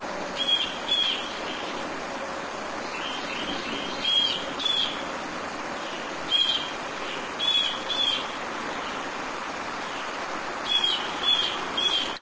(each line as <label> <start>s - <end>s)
birds singing 0.4s - 1.9s
birds singing 2.8s - 9.2s
birds singing 9.8s - 12.2s